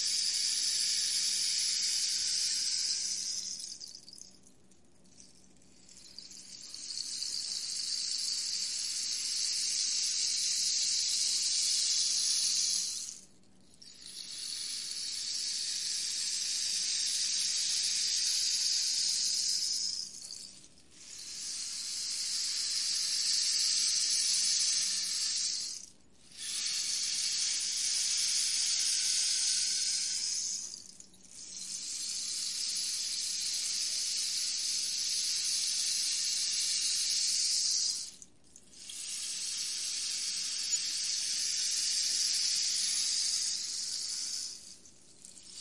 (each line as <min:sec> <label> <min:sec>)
0:00.0 rainstick 0:45.6